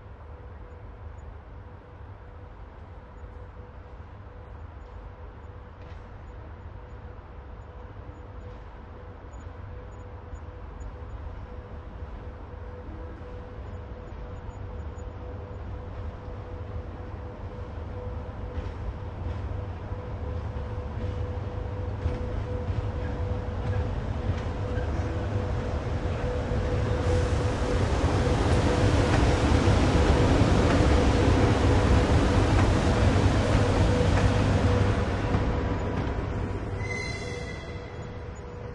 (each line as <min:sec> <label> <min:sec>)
0:00.0 locomotive passes slowly 0:38.7